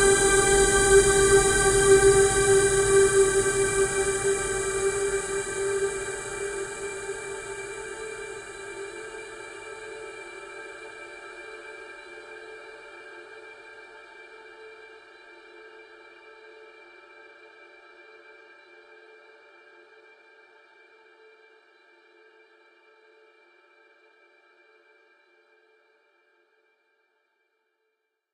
0.0s high frequency resonance 8.8s
0.0s synth 9.1s

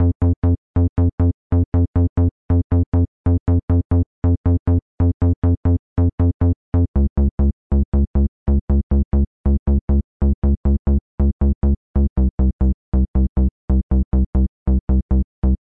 0.0s bass 15.6s

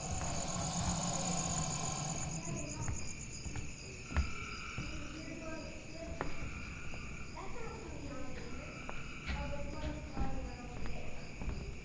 0.0s Footsteps 11.8s
0.0s wildlife 11.8s

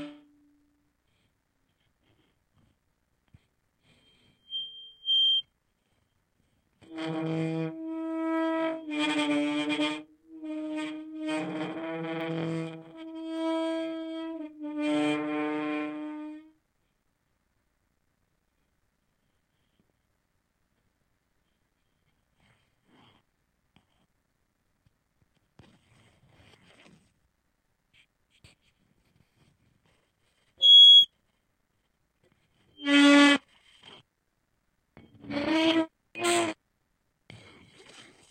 0.0s feedback loop involving a contact mic and surface transducer 17.0s
27.9s feedback loop involving a contact mic and surface transducer 34.0s
34.9s feedback loop involving a contact mic and surface transducer 36.6s

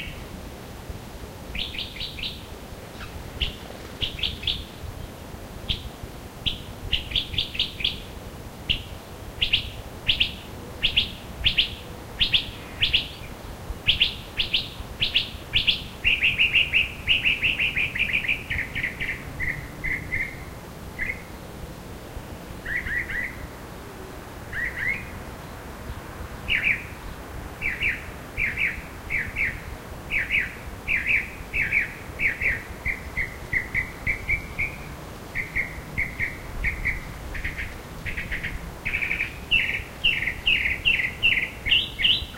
1.5s other birds in background 42.3s
27.6s Mocking bird 42.3s

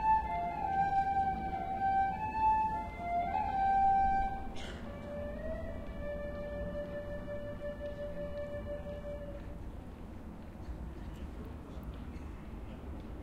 0.0s Musician plays flute improvisation 10.0s
0.0s people 13.2s

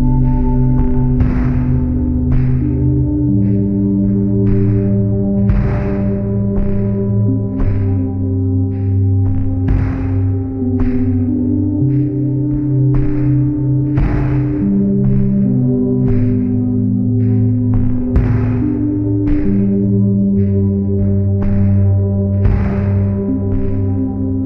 0.0s bass 24.4s
0.0s drones 24.4s
0.0s drums 24.4s
0.0s pads 24.4s

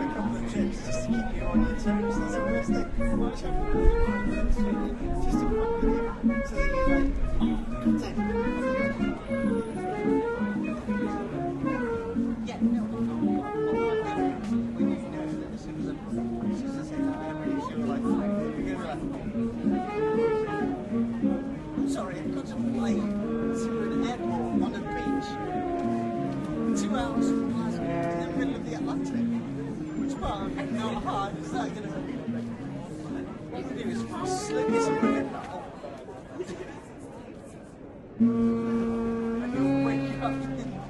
0.0s buskers 40.8s
0.0s chatting cafe sounds 40.8s
0.0s passers by walking on the sidewalk 40.8s

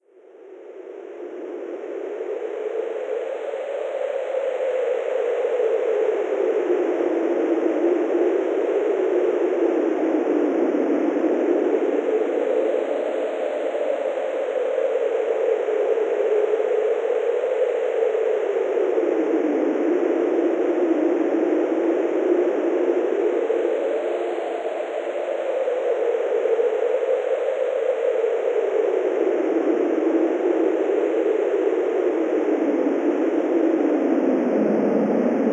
0.2s Wind, Synthesized 35.5s

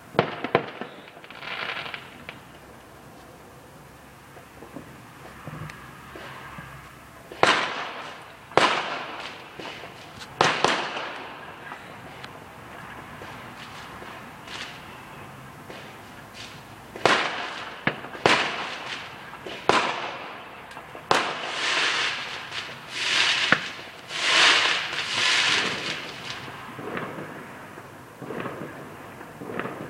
0.0s Fireworks exploding 29.8s

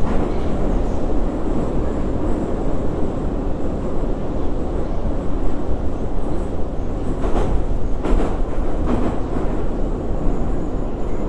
0.0s subway ride 11.2s

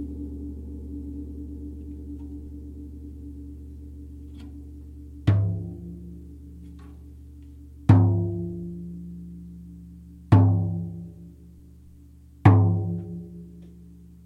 0.0s gong 14.2s
5.2s frame drum 7.2s
7.8s frame drum 11.5s
12.4s frame drum 14.0s

